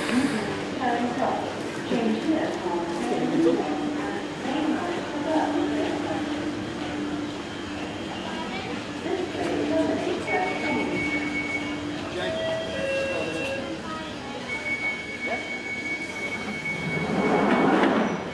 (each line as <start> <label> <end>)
0.0 Train arrives and departs from stations 18.3
0.0 in-train announcements 18.3
0.0 people 18.3
10.2 beeps 13.7
14.5 beeps 18.3